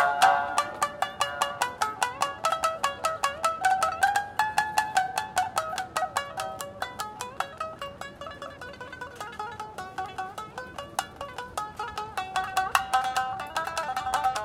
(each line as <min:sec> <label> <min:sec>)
0:00.0 Koto musician performs 0:14.4